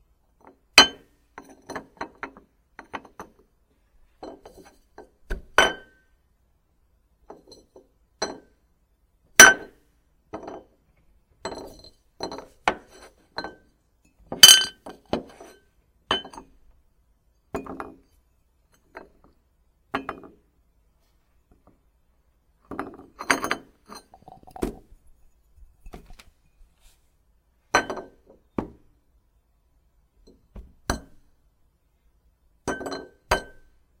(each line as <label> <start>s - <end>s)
ceramic plate 11.4s - 16.6s
ceramic plate 22.6s - 27.0s
glass cup set down, on a table 22.7s - 24.9s
ceramic plate 27.7s - 28.8s
ceramic plate 32.6s - 33.8s